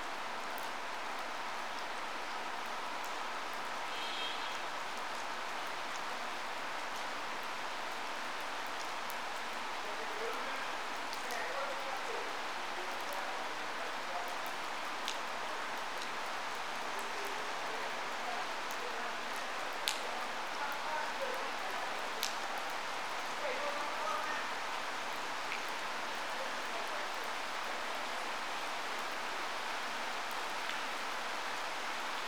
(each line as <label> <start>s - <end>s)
gentle summer shower 0.0s - 32.2s